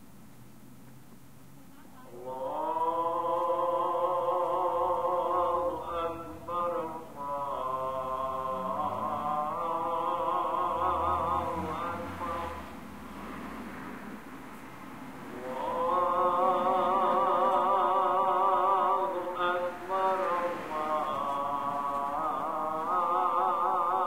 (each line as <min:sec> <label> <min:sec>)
0:01.6 call to prayer 0:12.9
0:15.1 call to prayer 0:24.0